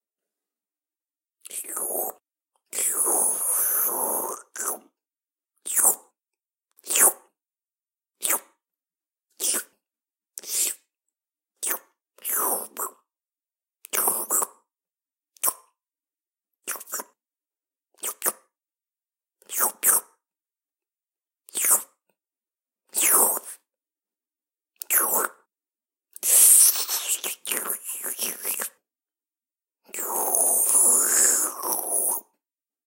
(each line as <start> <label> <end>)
1.4 slurping sounds 4.9
8.2 slurping sounds 8.5
10.4 slurping sounds 10.8
16.7 slurping sounds 17.2
18.0 slurping sounds 18.4
24.8 chew 25.4
24.8 slurping sounds 25.4
26.1 slurping sounds 28.8
26.2 chew 28.8
29.9 slurping sounds 32.4